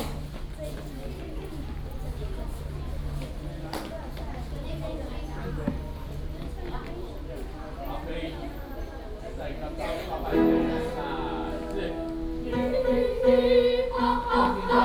Students Choir, Vocal exercises 0:10.3 - 0:14.8

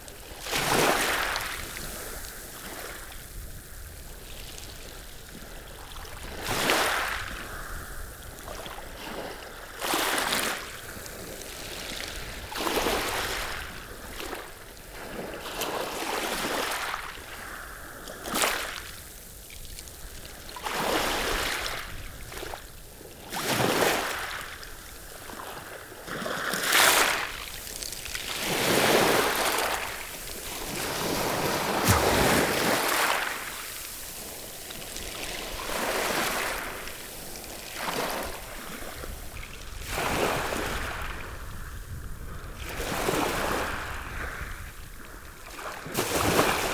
waves lapping on the gravels 0:00.0 - 0:46.7

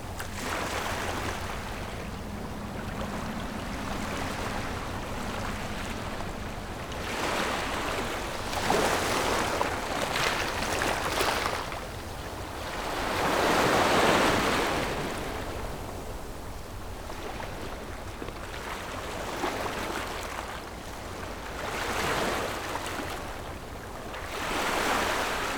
waves 0:00.0 - 0:25.5

